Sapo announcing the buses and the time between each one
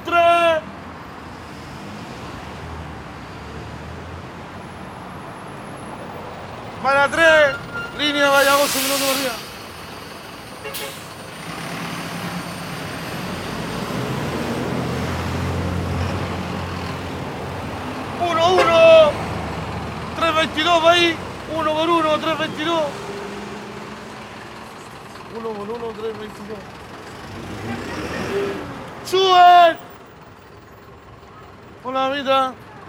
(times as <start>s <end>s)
0.0s 0.7s, 6.7s 9.6s, 18.0s 19.4s, 20.1s 23.2s, 27.5s 30.0s, 31.5s 32.8s